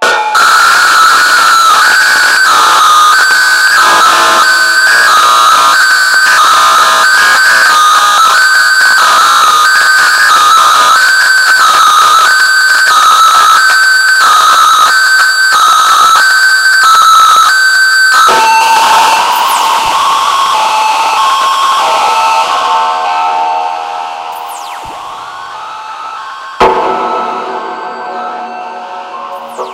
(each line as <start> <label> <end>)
0.0 screaming feedbacks 29.7
23.5 hi-passed bass, with lot of distorsionit 29.7